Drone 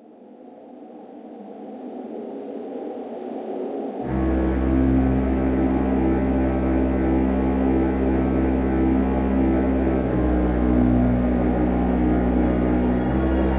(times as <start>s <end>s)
4.1s 13.5s